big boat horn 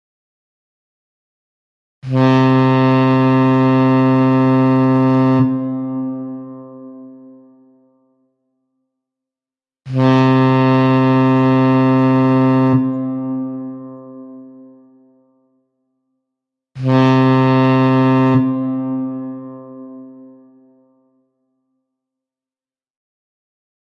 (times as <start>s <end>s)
2.0s 8.2s, 9.9s 15.6s, 16.8s 21.2s